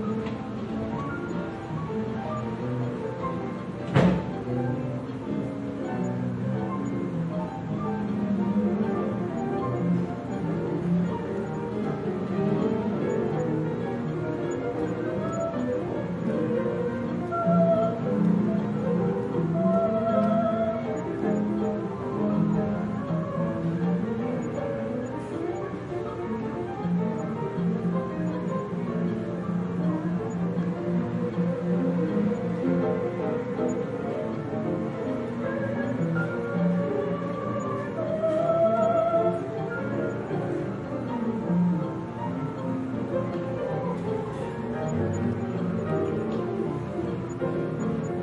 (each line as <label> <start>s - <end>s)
piano 0.0s - 48.2s
singing 8.6s - 26.5s
singing 29.8s - 41.5s